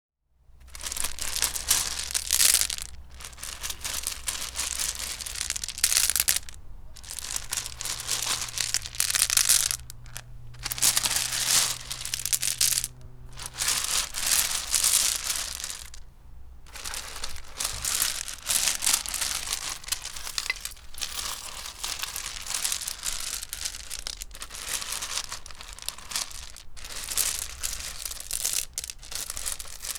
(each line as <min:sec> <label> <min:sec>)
0:00.6 Running my hand through coarse pebbles 0:29.9